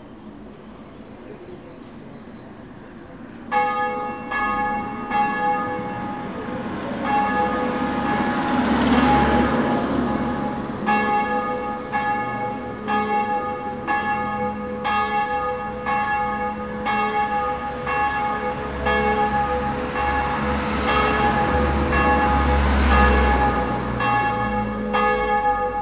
church bell is manifesting itself 0:03.5 - 0:25.8

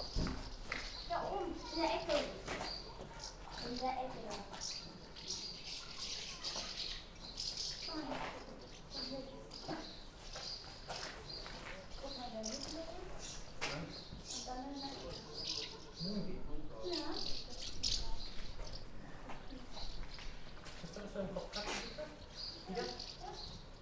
colony of house martins 0:00.0 - 0:23.8

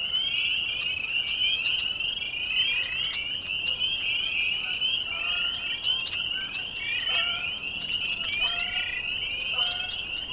Blackbirds 0:00.0 - 0:10.3
frogs 0:00.0 - 0:10.3
geese 0:00.1 - 0:10.3

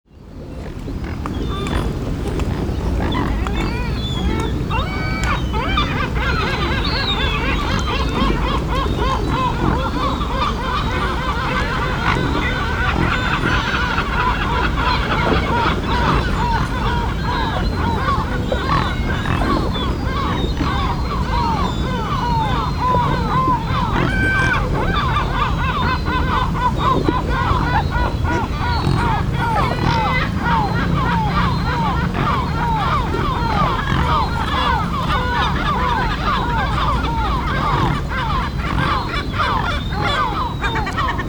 Swans 0:00.1 - 0:41.2
Gulls 0:00.2 - 0:41.2

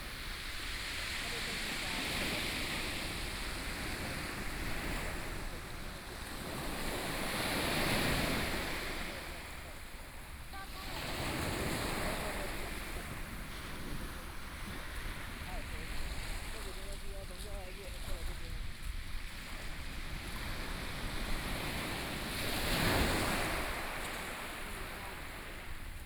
waves 0:00.0 - 0:26.0

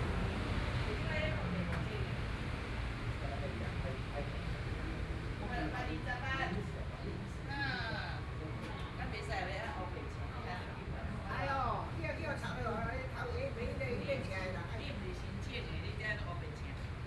Traffic Sound 0:00.0 - 0:03.2
group of elderly people chatting 0:00.8 - 0:17.0

